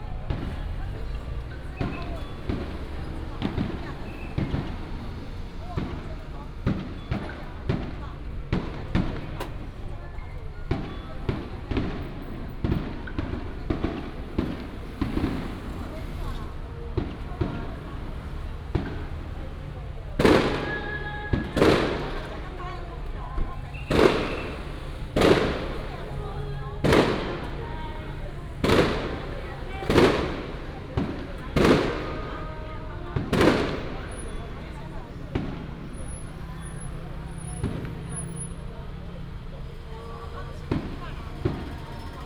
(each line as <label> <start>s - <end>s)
Traffic sound 0.0s - 42.2s
firecrackers 0.0s - 42.2s
Fireworks 0.0s - 42.2s